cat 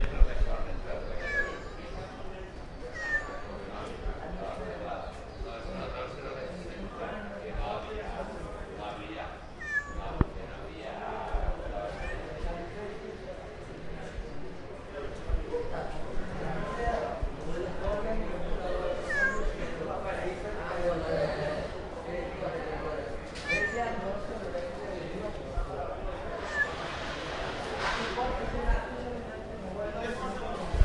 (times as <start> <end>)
1.1 2.0, 2.8 3.6, 9.6 10.2, 11.9 12.3, 19.0 19.6, 23.4 24.0, 26.4 26.8